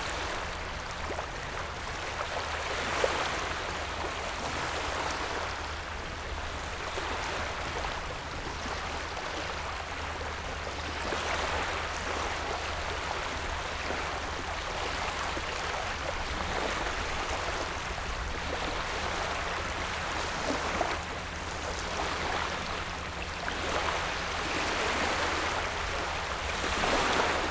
Wave and tidal 0:11.0 - 0:27.5

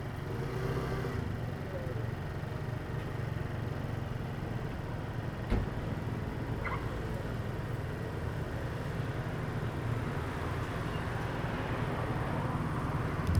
Traffic Sound 0:10.2 - 0:13.3

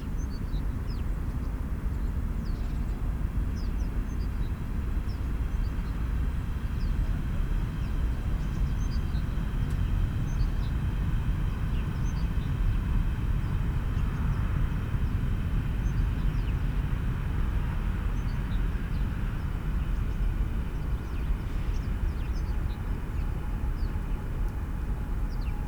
distant drone of traffic 0:00.0 - 0:25.6
local trains 0:00.0 - 0:25.6
sparrows 0:20.8 - 0:24.2
sparrows 0:25.3 - 0:25.6

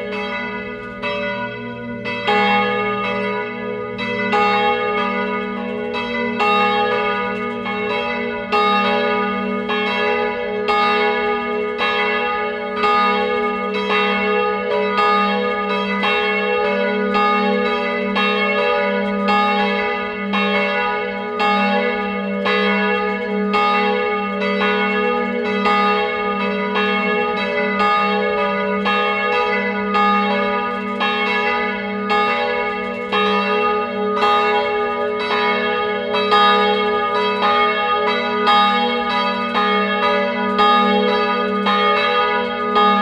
church bells 0:00.0 - 0:43.0
swinging of the bell in the bell tower 0:00.0 - 0:43.0

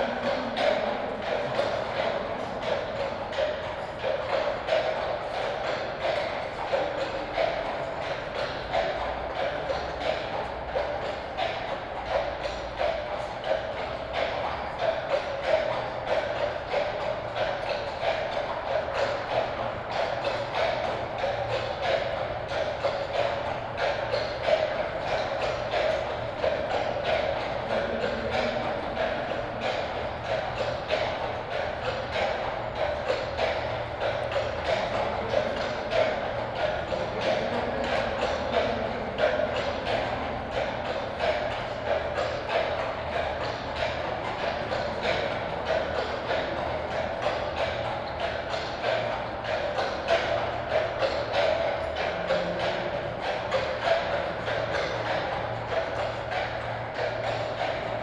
horse patrol walking into a tunnel 0:00.0 - 0:58.0

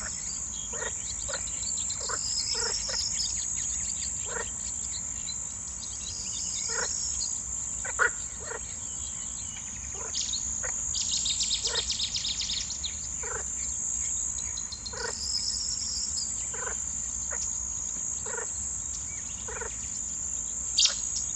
Cettis warbler 0:00.0 - 0:21.3
crickets 0:00.0 - 0:21.3
frogs 0:00.0 - 0:21.3

